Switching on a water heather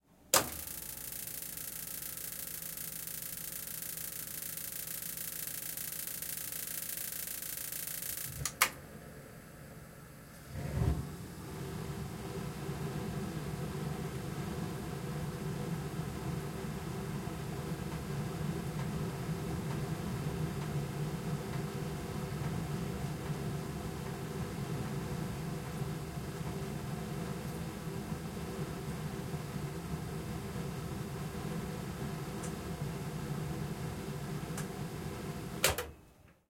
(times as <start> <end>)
0.3 1.5, 8.0 8.8